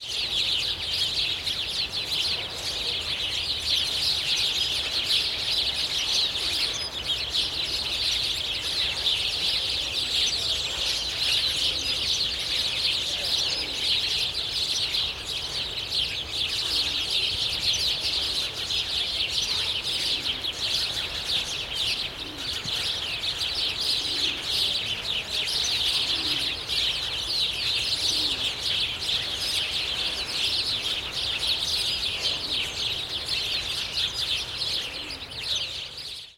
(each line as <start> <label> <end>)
0.0 sparrows 36.3